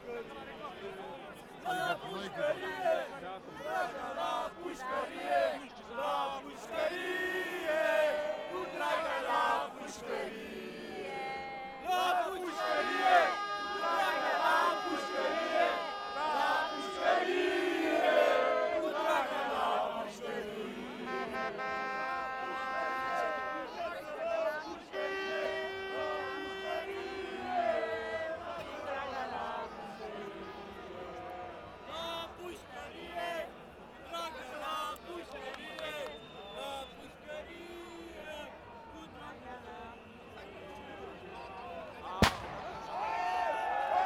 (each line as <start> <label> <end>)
1.9 Anti graft protest 36.4
42.0 Anti graft protest 44.0